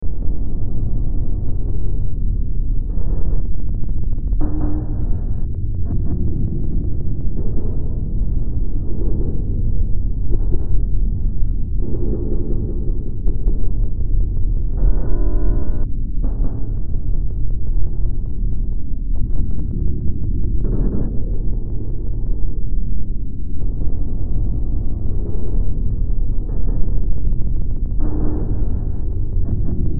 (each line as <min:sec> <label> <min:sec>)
0:00.0 Drone 0:29.9